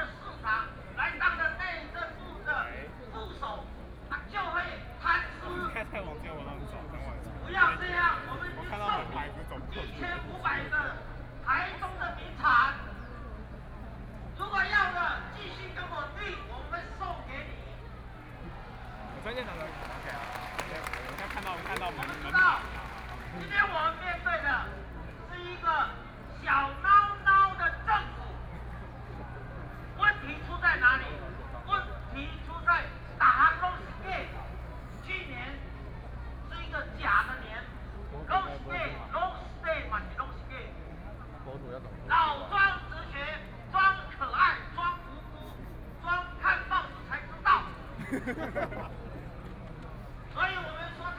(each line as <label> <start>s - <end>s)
Protest 18.5s - 24.9s